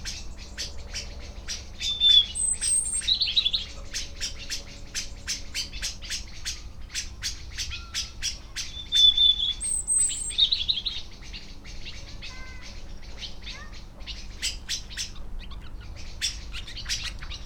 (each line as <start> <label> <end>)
0.0 Blackbird dusk 17.4
0.0 traffic noise 17.4
0.0 house sparrow 17.4
12.0 tawny owl 17.4